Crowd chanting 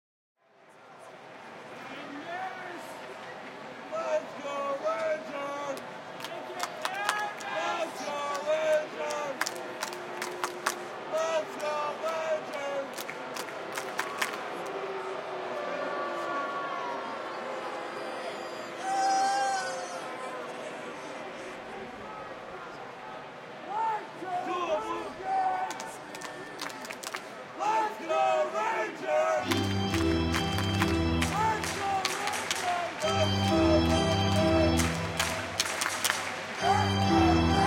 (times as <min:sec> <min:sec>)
0:27.6 0:37.6